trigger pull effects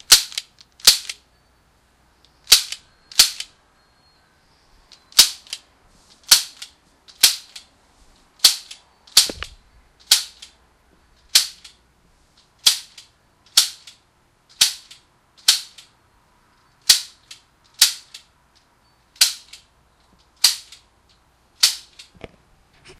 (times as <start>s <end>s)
2.4s 3.5s, 8.4s 10.5s